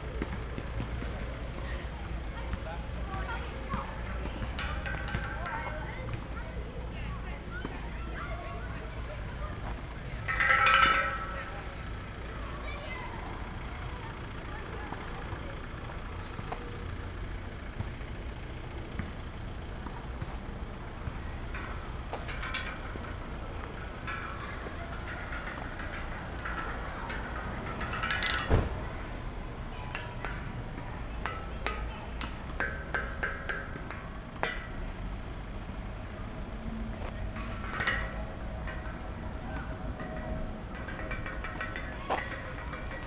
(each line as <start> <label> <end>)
0.0 railings surrounding the tennis court 43.0